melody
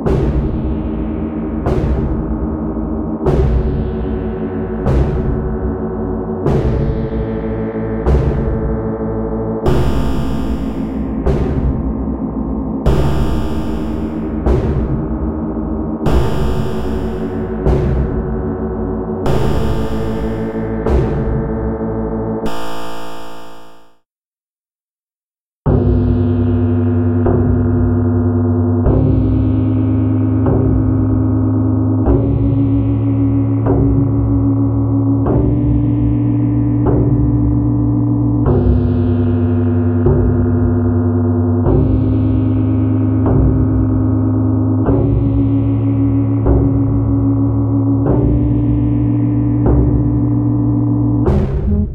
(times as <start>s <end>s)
9.7s 11.1s, 12.9s 14.4s, 16.1s 17.6s, 19.3s 20.7s